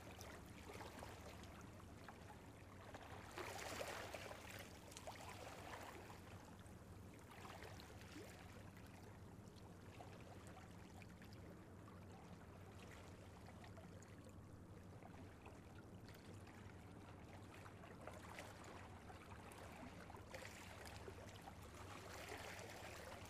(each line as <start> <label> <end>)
0.0 waves 23.2